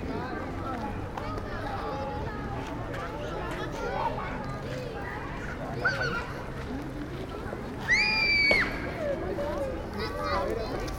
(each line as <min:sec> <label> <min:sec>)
0:00.0 Children playing 0:10.9